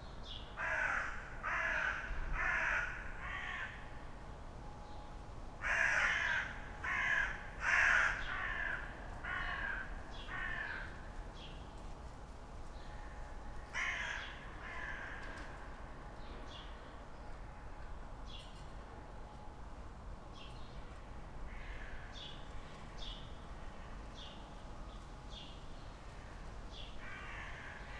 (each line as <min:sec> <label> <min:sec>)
0:00.6 dun crows 0:03.8
0:05.6 dun crows 0:10.9
0:13.8 dun crows 0:15.3